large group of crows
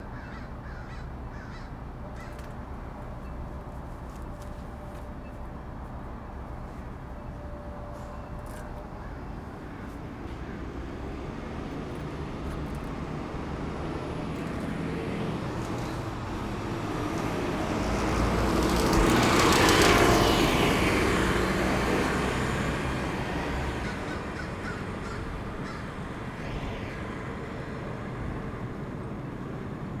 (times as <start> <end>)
0.0 3.2, 8.5 27.2